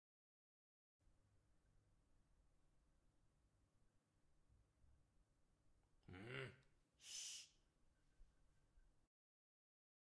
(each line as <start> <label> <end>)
6.0 man grunting 6.7
7.0 SSHH 7.6